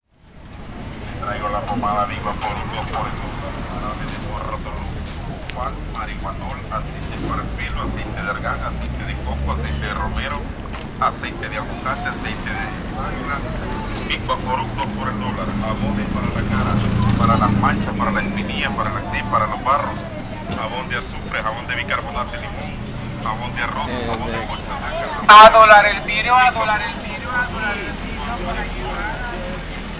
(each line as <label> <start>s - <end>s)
Vocal sound of a street vendor selling creams and essential oils 0.2s - 29.9s